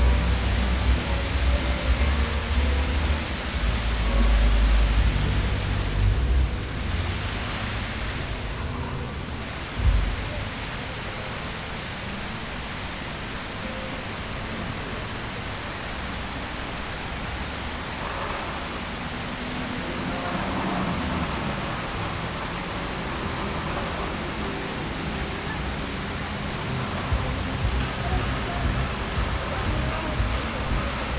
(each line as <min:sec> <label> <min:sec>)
0:00.0 Street Level Fountain 0:31.1